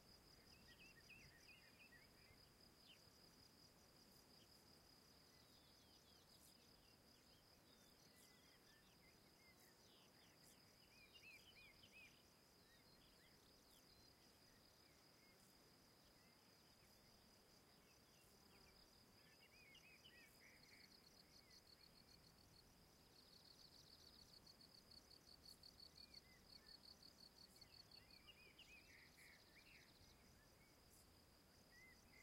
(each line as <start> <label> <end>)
0.0 insects 32.2